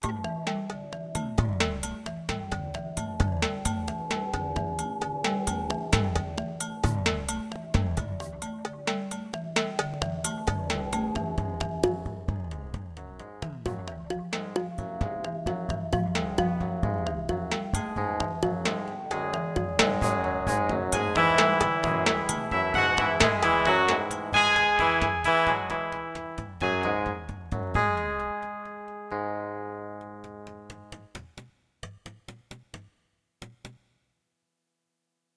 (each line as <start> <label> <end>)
18.0 Electric Solo 30.8